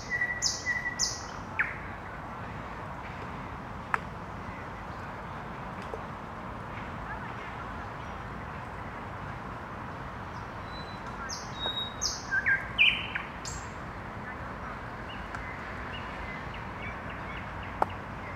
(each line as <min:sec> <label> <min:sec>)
0:00.0 night bird sounds 0:02.1
0:10.3 night bird sounds 0:13.8